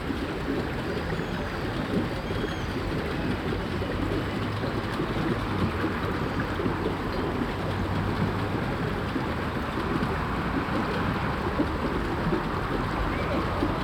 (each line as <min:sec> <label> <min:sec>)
0:00.0 waterspout fountain 0:13.8
0:00.0 bubbly drainage 0:13.8
0:03.7 traffic 0:13.8